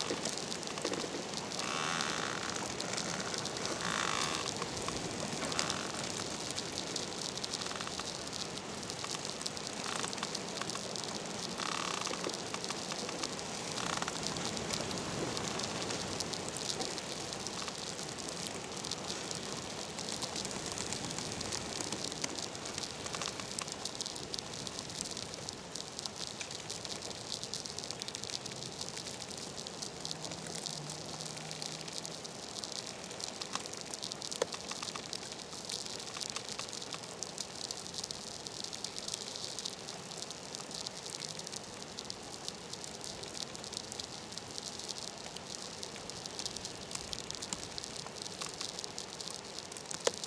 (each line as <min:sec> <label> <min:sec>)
0:00.0 bush creaking in a wind 0:50.2